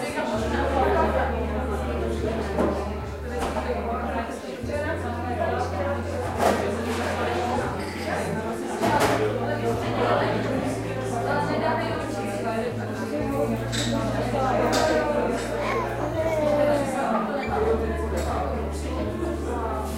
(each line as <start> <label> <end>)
0.0 people talking 19.9
0.1 Jazz music in the background 19.9